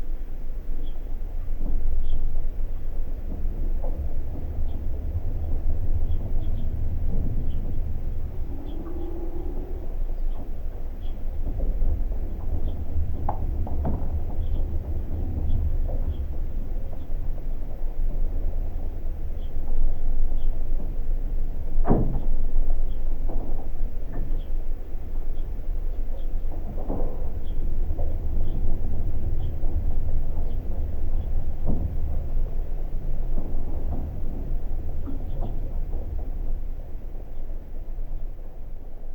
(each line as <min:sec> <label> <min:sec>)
0:00.0 mild wind 0:39.1
0:00.0 old watertower covered with frozen water and icicles 0:39.1